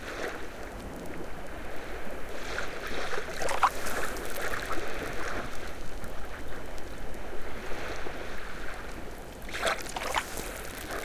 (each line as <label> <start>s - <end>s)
Very gentle waves on the sand 0.0s - 11.0s
bubbles of the salty foam bursting 3.2s - 5.1s
bubbles of the salty foam bursting 9.5s - 11.0s